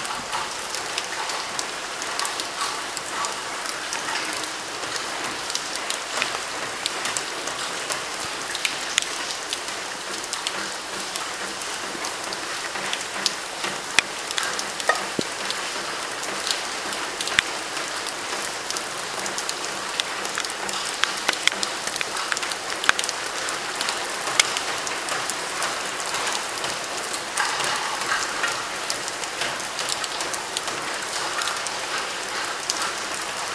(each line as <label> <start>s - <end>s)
Raindrops falling on suface of different materials 0.0s - 33.5s